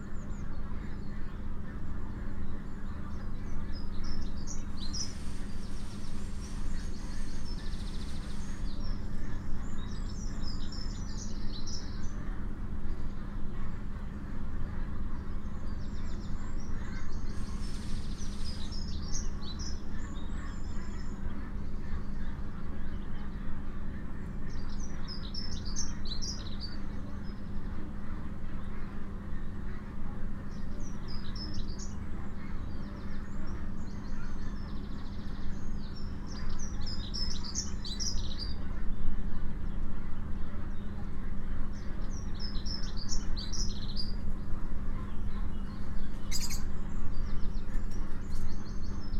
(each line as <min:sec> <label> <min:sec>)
0:00.0 heated, ventilated housing 0:49.1
0:00.0 wild birds sing freely 0:49.1
0:16.2 Poultry can be heard incessantly 0:49.1